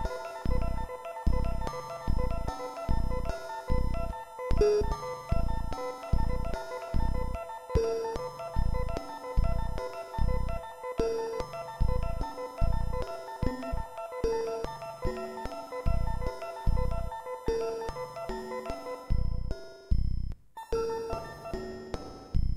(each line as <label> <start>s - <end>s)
analogue synths 0.0s - 20.3s
beat 0.0s - 20.4s